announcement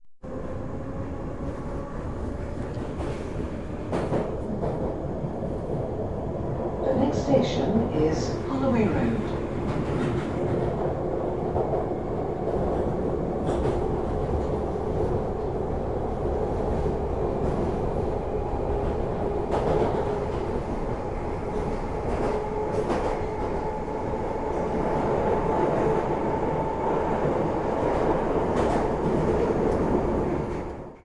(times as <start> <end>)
6.9 9.4